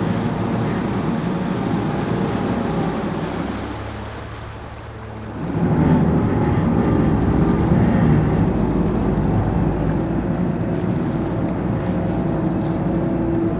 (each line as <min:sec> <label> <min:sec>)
0:00.0 Shuttle boat 0:13.5